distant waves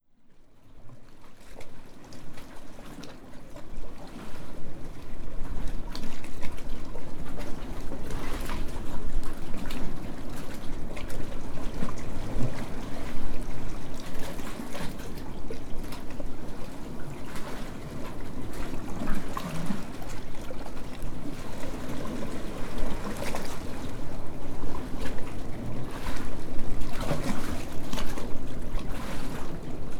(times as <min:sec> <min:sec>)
0:08.0 0:29.9